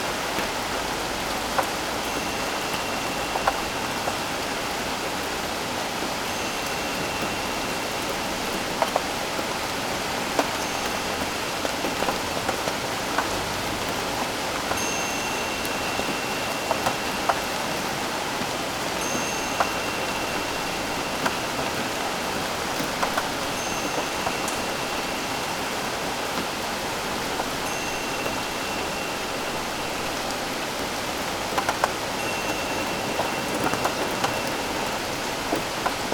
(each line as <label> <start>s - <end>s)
rain 0.0s - 36.1s